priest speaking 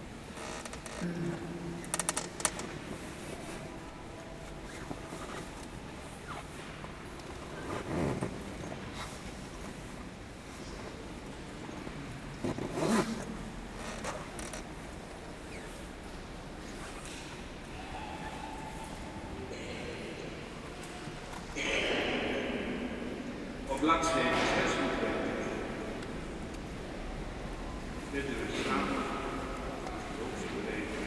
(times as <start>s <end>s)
23.6s 25.6s